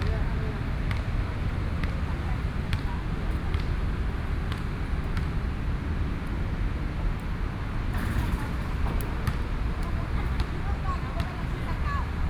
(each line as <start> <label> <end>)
0.0 Traffic Noise 12.2
0.8 Play basketball 5.6
8.0 Play basketball 12.2